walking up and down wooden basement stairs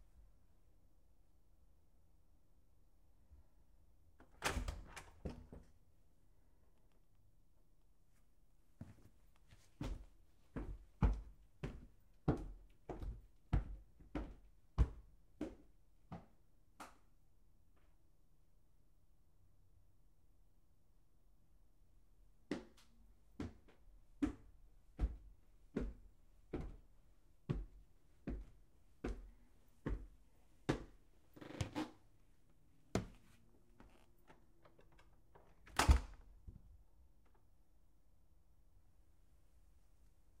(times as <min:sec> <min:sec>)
0:04.4 0:05.8, 0:08.8 0:16.8, 0:22.4 0:31.9, 0:32.8 0:36.8